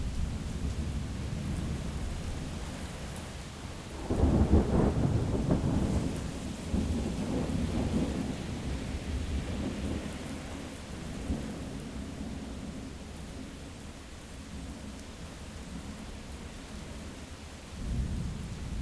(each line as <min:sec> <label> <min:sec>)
0:00.0 rain 0:18.8
0:04.0 crack of thunder 0:10.1